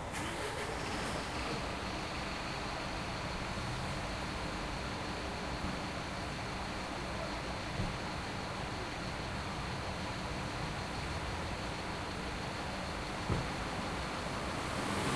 passing cars 0.0 - 5.8
Bus leaving 0.0 - 15.1
passing cars 11.1 - 15.1

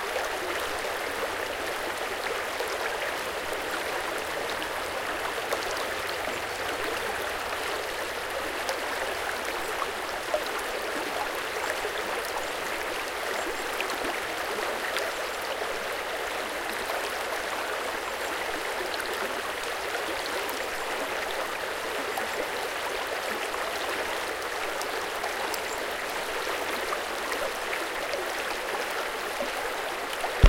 Tumbling stream 30.2 - 30.4

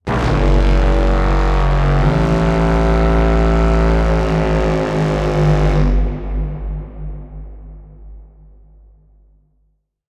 Horn Blast 0.0 - 8.0

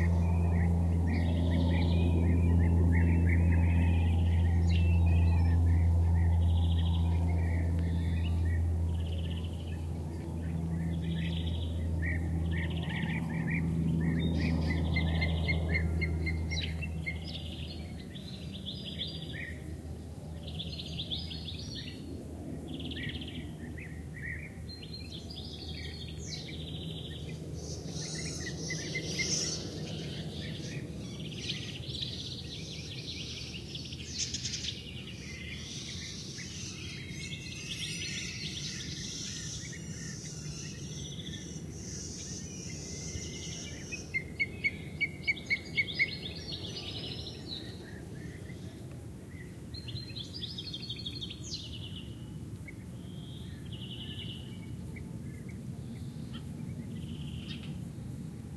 passing airplane 0.0 - 58.5
cicadas 26.8 - 54.5

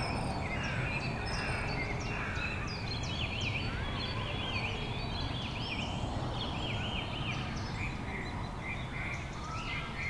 bird sounds 0.0 - 10.0
kids playing in the background 0.0 - 10.0
people chatting 3.7 - 5.4

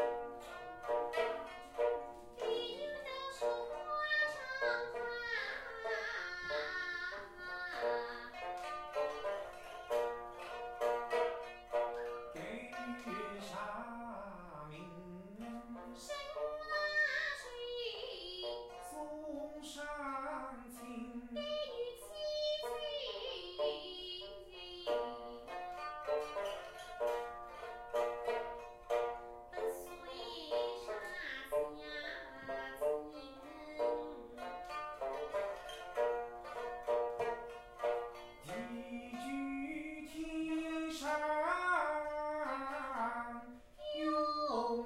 pipa 0.0 - 19.8
voice 12.4 - 25.3
pipa 20.4 - 44.8
voice 29.6 - 34.2
voice 38.5 - 44.8

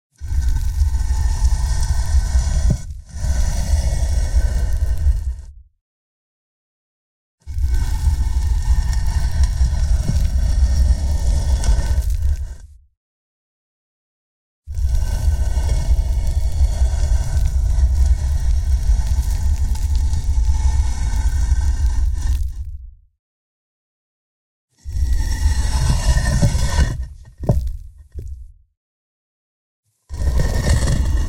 gravestone slab being dragged 0.2 - 5.6
gravestone slab being dragged 7.4 - 12.8
gravestone slab being dragged 14.7 - 22.9
gravestone slab being dragged 24.8 - 28.6
gravestone slab being dragged 30.1 - 31.2

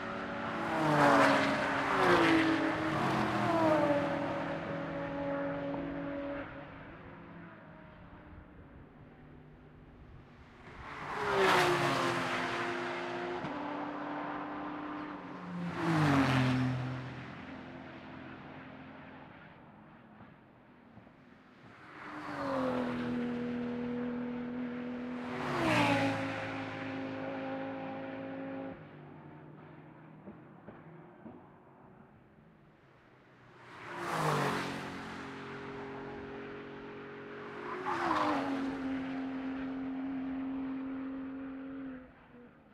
race cars passing by 0.0 - 42.7

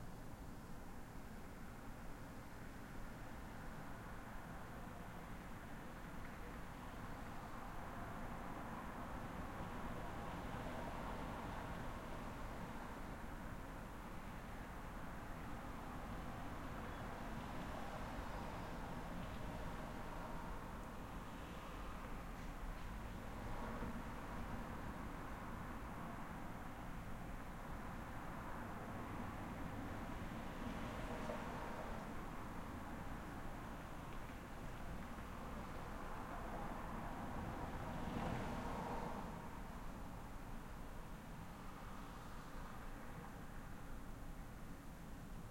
Light traffic 0.0 - 45.5

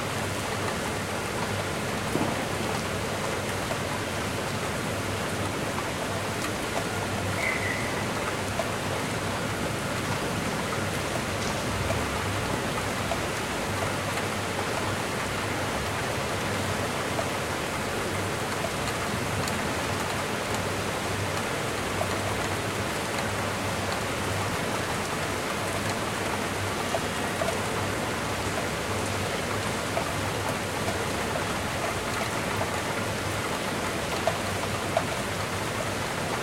havy rain 0.0 - 36.4

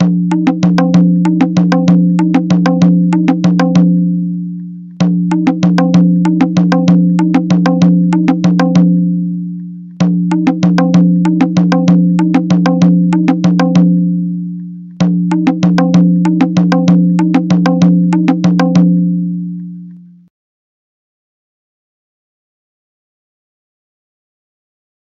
Maadal beats 0.0 - 19.8

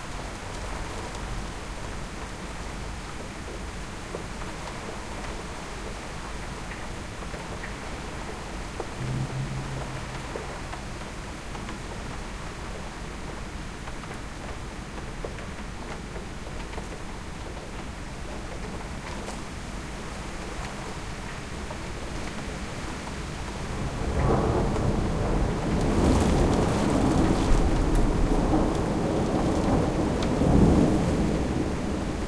rain storm 0.0 - 32.2

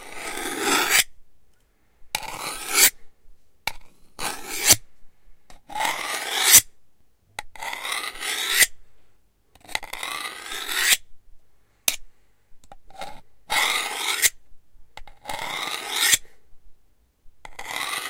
Sharpening a knife 0.0 - 1.1
Sharpening a knife 2.2 - 3.0
Sharpening a knife 4.2 - 4.8
Sharpening a knife 5.8 - 6.7
Sharpening a knife 7.6 - 8.8
Sharpening a knife 9.8 - 11.0
Sharpening a knife 13.0 - 14.4
Sharpening a knife 15.2 - 16.3
Sharpening a knife 17.5 - 18.0

